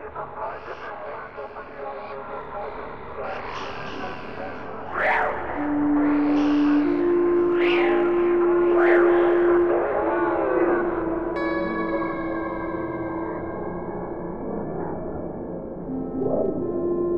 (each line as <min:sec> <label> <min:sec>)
0:00.0 Strange voices 0:17.1
0:03.6 flutes 0:13.9
0:05.4 synth 0:17.1
0:15.9 flutes 0:17.1